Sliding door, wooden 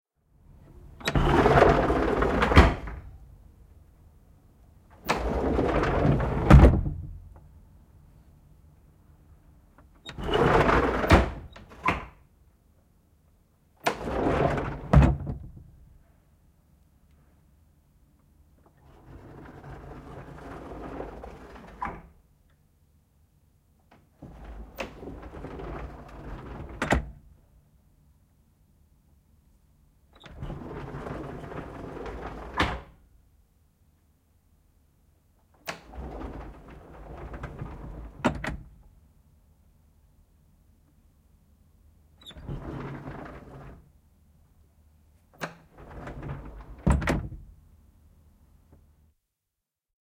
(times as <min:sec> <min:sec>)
0:00.6 0:03.2, 0:04.9 0:07.5, 0:09.8 0:12.3, 0:13.8 0:15.9, 0:18.6 0:22.2, 0:23.9 0:27.3, 0:30.1 0:33.0, 0:35.4 0:39.0, 0:42.2 0:44.1, 0:45.2 0:47.6